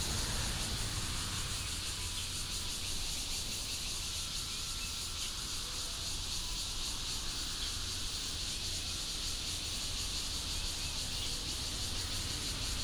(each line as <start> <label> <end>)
0.0 Traffic sound 2.5
0.0 train runs through 3.1